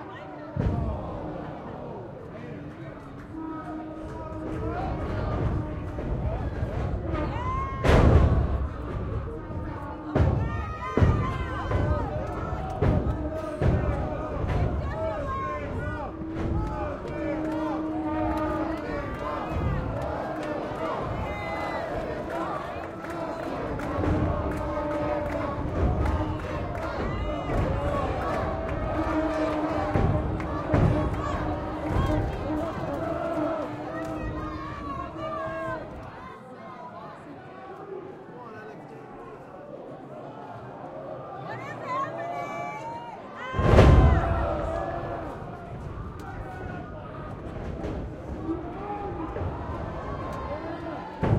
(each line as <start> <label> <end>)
0.0 Mexican Wrestling 37.0
0.0 cheering 51.3
3.3 referee 36.4
3.4 yelling 36.4
9.6 vuvuzela 34.9
16.6 clapping 34.5
39.8 Mexican Wrestling 51.3
40.3 yelling 47.4